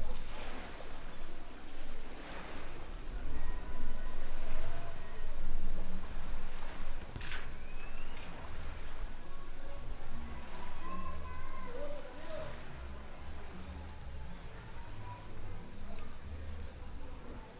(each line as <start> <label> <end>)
0.0 lake waves 17.5
0.0 near and distant birds 17.5
9.6 kids and fathers voices 17.5